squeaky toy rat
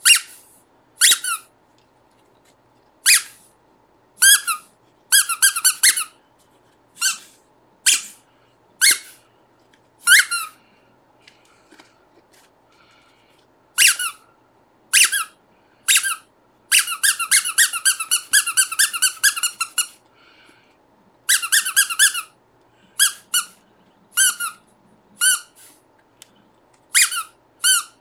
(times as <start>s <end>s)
0.0s 0.4s, 1.0s 1.5s, 3.0s 3.4s, 4.2s 6.2s, 7.0s 7.3s, 7.9s 8.2s, 8.8s 9.2s, 10.0s 10.6s, 13.8s 14.2s, 14.9s 20.0s, 21.3s 22.3s, 23.0s 23.6s, 24.2s 24.6s, 25.2s 25.6s, 26.9s 28.0s